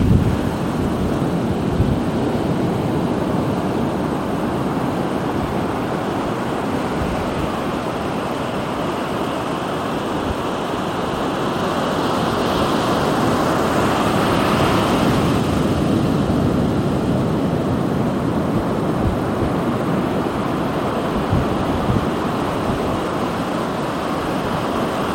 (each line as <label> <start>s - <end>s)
Waves 0.0s - 25.1s